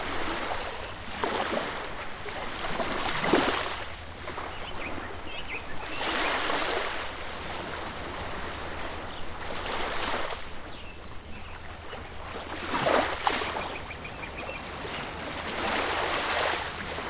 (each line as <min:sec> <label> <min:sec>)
0:00.0 Ocean Waves 0:17.0
0:03.0 birds 0:07.2
0:08.2 birds 0:16.9